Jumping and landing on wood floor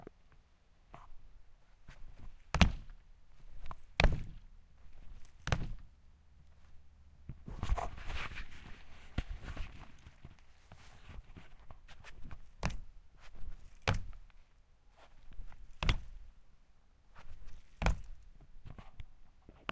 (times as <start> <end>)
1.9 5.9, 12.1 14.3, 15.1 16.3, 17.2 18.2